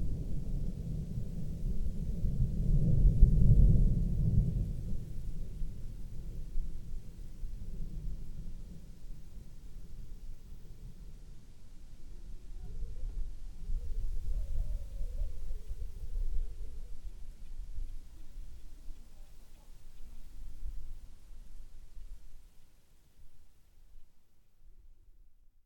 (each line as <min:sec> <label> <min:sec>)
0:00.0 thunder 0:11.5